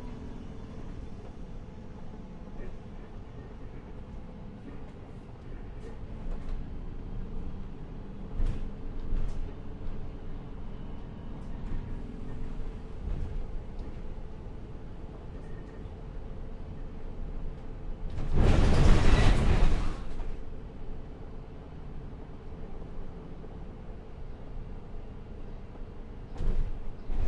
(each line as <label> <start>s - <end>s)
Inside a public bus 0.0s - 27.2s